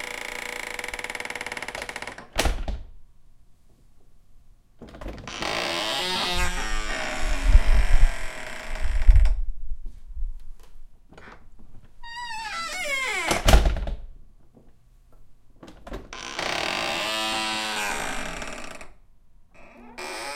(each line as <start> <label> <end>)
0.0 Creaky door open and close 2.7
4.8 Creaky door open and close 9.4
11.2 Creaky door open and close 14.0
15.6 Creaky door open and close 19.0
19.6 Creaky door open and close 20.3